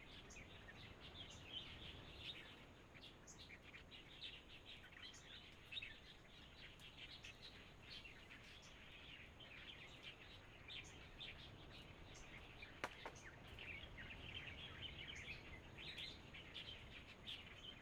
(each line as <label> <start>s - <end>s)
Birds singing 3.3s - 17.8s